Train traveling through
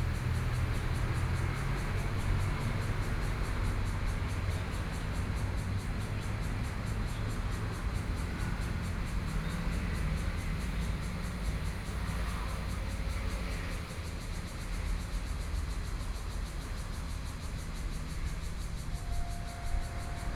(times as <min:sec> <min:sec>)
0:15.8 0:20.3